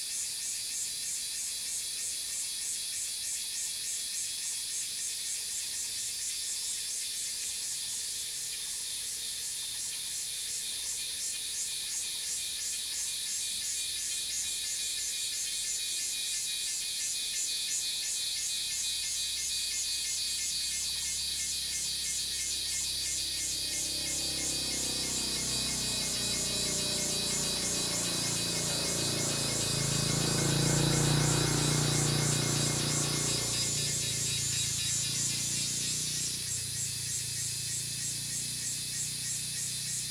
Cicadas cry 0:18.0 - 0:40.1
Traffic Sound 0:22.0 - 0:39.9

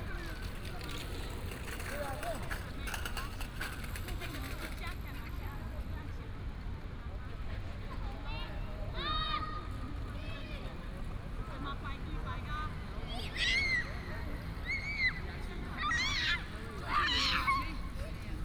Traffic sound 0:00.0 - 0:18.4
Children 0:11.7 - 0:18.4

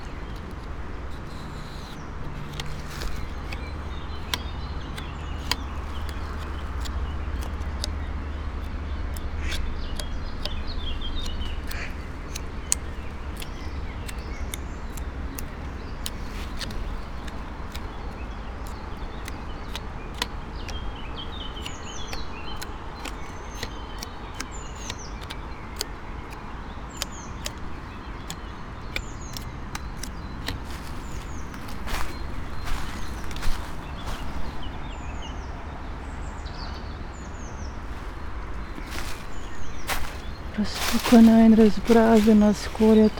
poplar tree 0:00.0 - 0:43.1
river 0:00.0 - 0:43.1

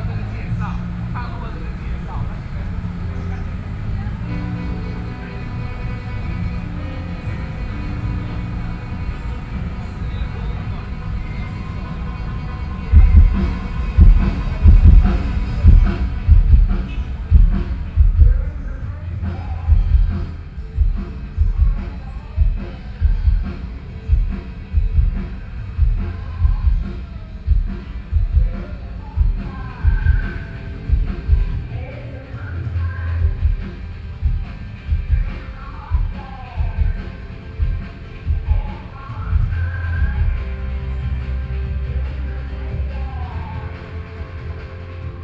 Concert is testing the microphone 0:00.0 - 0:31.8
Noise generator 0:00.0 - 0:45.2
Visitor 0:00.0 - 0:45.2

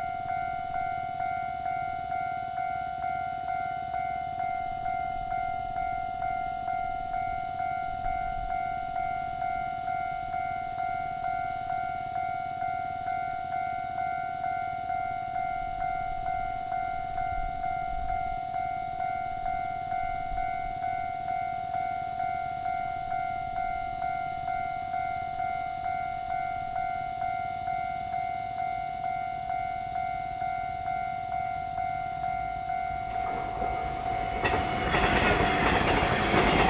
The train runs through 0:00.0 - 0:36.6

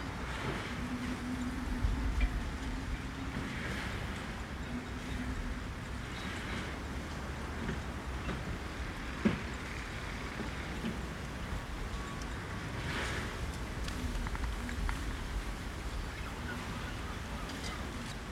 fisherman working nearby 0:00.0 - 0:18.3
light wind 0:00.0 - 0:18.3

